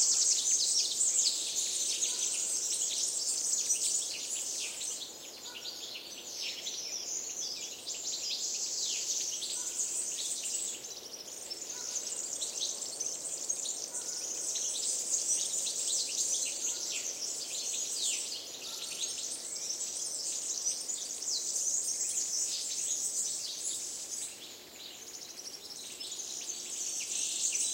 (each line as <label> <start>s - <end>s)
Blackbird 0.0s - 27.7s
Warbler 0.0s - 27.7s
soft wind on trees 0.0s - 27.7s